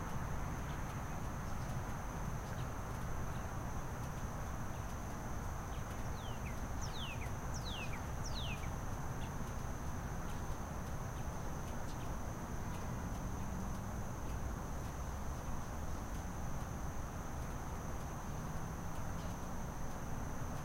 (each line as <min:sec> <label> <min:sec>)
0:00.0 insects 0:20.6
0:05.8 birds 0:08.8